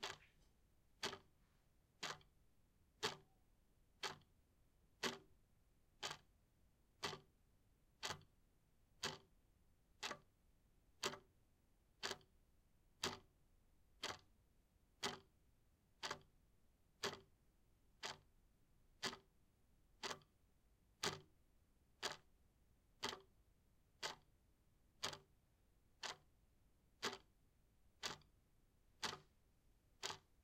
0.0s Clock ticking 0.3s
1.0s Clock ticking 1.3s
2.0s Clock ticking 2.4s
3.0s Clock ticking 3.4s
4.0s Clock ticking 4.3s
5.0s Clock ticking 5.4s
6.0s Clock ticking 6.3s
6.9s Clock ticking 7.4s
8.0s Clock ticking 8.4s
9.0s Clock ticking 9.4s
10.0s Clock ticking 10.4s
11.0s Clock ticking 11.3s
12.0s Clock ticking 12.4s
13.0s Clock ticking 13.4s
14.0s Clock ticking 14.4s
15.0s Clock ticking 15.4s
16.0s Clock ticking 16.4s
17.0s Clock ticking 17.4s
18.0s Clock ticking 18.3s
19.0s Clock ticking 19.4s
20.0s Clock ticking 20.4s
21.0s Clock ticking 21.4s
22.0s Clock ticking 22.4s
23.0s Clock ticking 23.4s
24.0s Clock ticking 24.4s
25.0s Clock ticking 25.4s
26.0s Clock ticking 26.4s
27.0s Clock ticking 27.4s
28.0s Clock ticking 28.4s
29.0s Clock ticking 29.4s
30.0s Clock ticking 30.4s

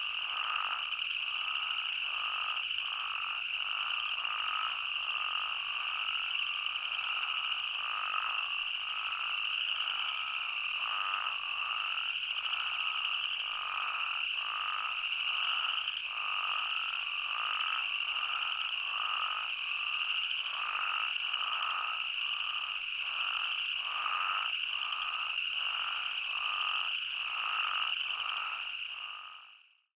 0.0s chorus of uncommon spadefoot toads call 29.9s

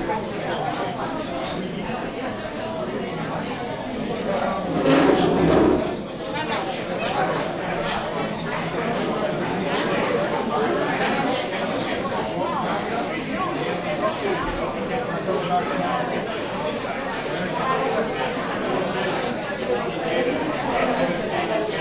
0.0s crowd int medium active 21.8s

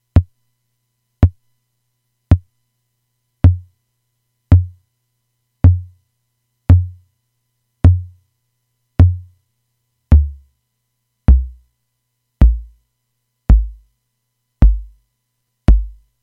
0.1s analog Drum Machine kick drum sounds 0.3s
1.2s analog Drum Machine kick drum sounds 1.4s
3.4s analog Drum Machine kick drum sounds 3.7s
4.5s analog Drum Machine kick drum sounds 4.8s
5.6s analog Drum Machine kick drum sounds 6.0s
6.7s analog Drum Machine kick drum sounds 7.0s
7.8s analog Drum Machine kick drum sounds 8.2s
9.0s analog Drum Machine kick drum sounds 9.3s
10.1s analog Drum Machine kick drum sounds 10.5s
11.3s analog Drum Machine kick drum sounds 11.6s
12.4s analog Drum Machine kick drum sounds 12.8s
13.5s analog Drum Machine kick drum sounds 13.9s
14.6s analog Drum Machine kick drum sounds 15.0s
15.7s analog Drum Machine kick drum sounds 16.1s

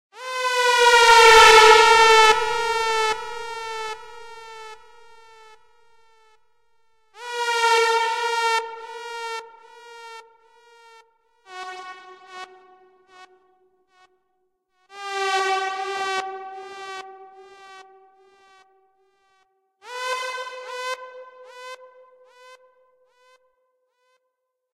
0.2s dub siren 11.0s

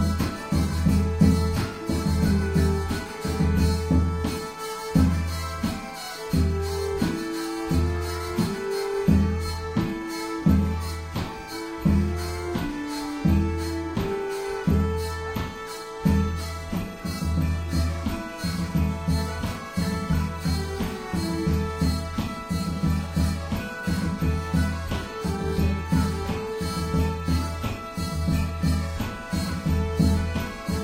0.0s bagpipe 30.8s
0.0s drums 30.8s
0.0s fiddle 30.8s
0.0s hurdy gurdy 30.8s

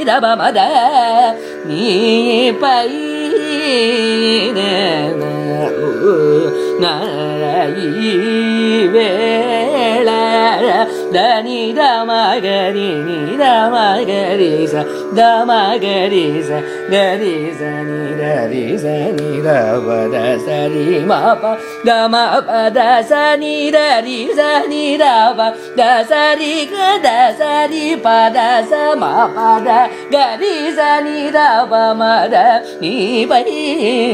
0.0s Carnatic varnam 34.1s

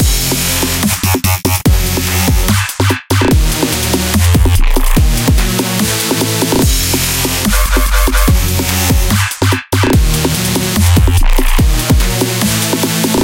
0.0s dubstep 13.2s

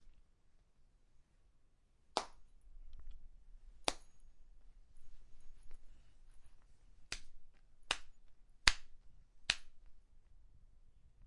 2.1s Hand Slapping skin 2.5s
3.8s Hand Slapping skin 4.1s
7.1s Hand Slapping skin 9.9s

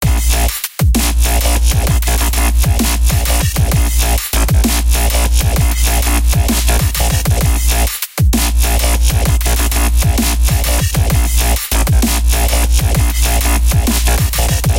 0.0s bouncy yet galloping radio filtered bassline 14.7s

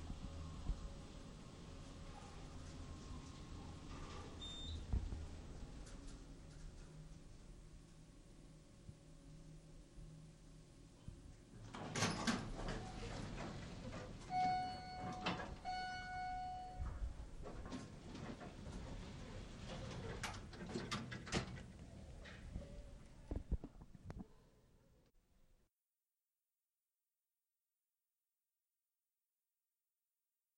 11.5s taking an elevator up one floor 23.5s
11.7s door 15.6s
14.4s bell 17.0s
19.7s door 21.7s

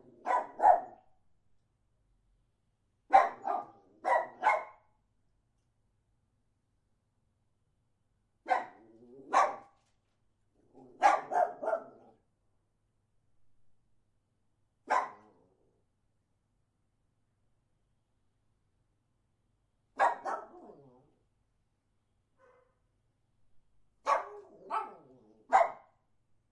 0.0s dog barking inside a room 26.5s

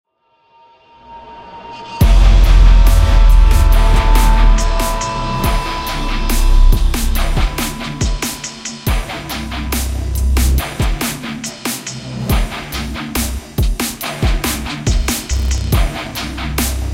2.0s drums 16.9s
2.0s guitar 10.2s

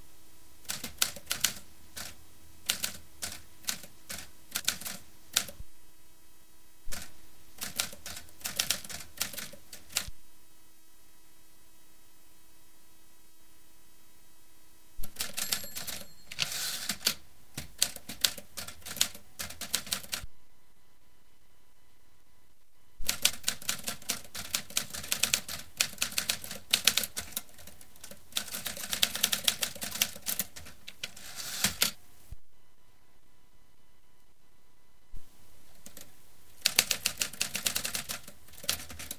0.7s manual typewriter 5.6s
6.9s manual typewriter 10.1s
15.0s manual typewriter 20.2s
23.0s manual typewriter 32.0s
35.8s manual typewriter 39.1s

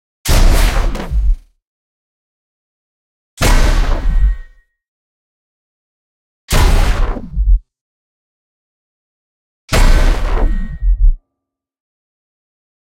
0.3s big metallic robot footsteps 1.5s
3.4s big metallic robot footsteps 4.6s
9.7s big metallic robot footsteps 11.2s

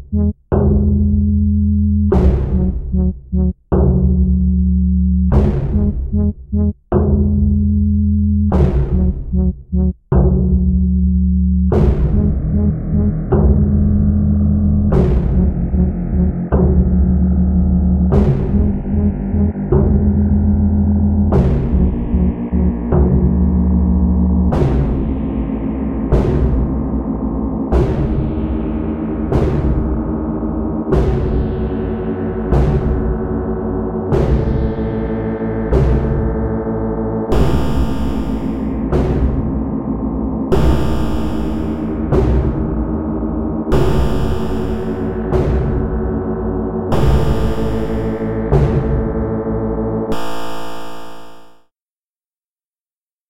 37.3s melody 38.8s
40.5s melody 42.0s
43.7s melody 45.2s
46.9s melody 48.4s

